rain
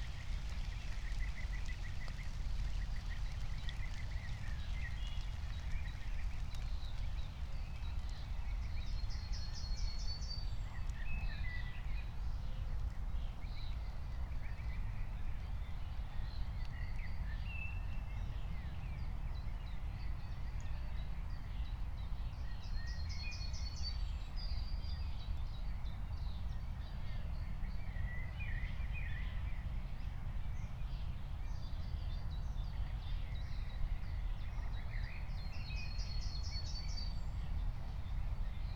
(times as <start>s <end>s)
0.0s 9.6s